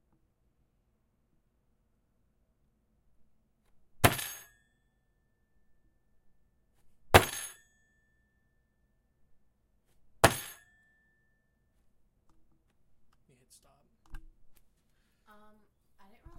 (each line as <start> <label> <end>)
4.0 Table Slam (Closed Fist) 4.5
7.2 Table Slam (Closed Fist) 7.6
10.2 Table Slam (Closed Fist) 10.6